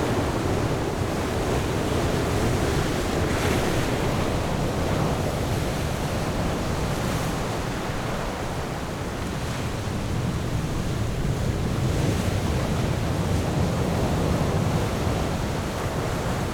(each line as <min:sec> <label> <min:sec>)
0:00.0 waves 0:16.5